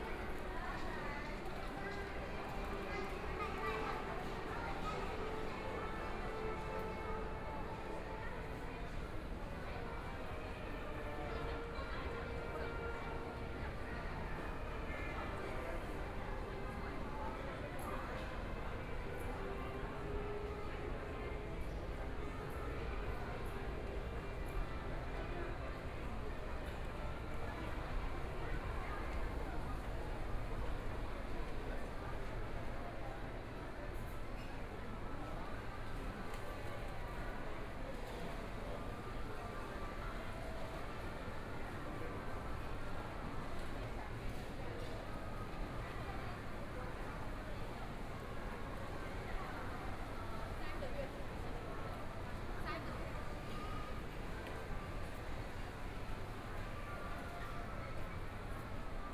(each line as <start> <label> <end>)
0.0 Walking around the shopping mall 59.1